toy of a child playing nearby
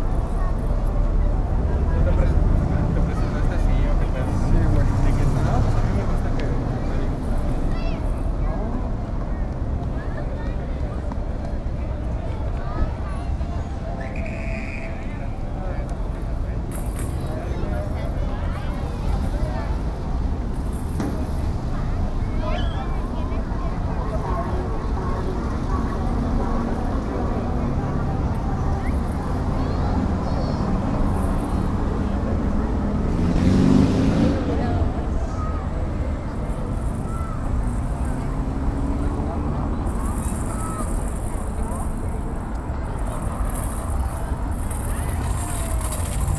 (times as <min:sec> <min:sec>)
0:28.9 0:32.0, 0:36.4 0:46.3